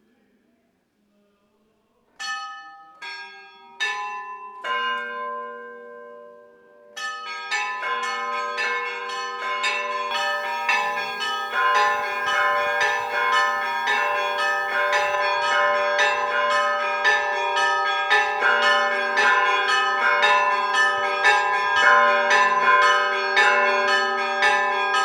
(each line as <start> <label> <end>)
10.1 bell ringing 21.9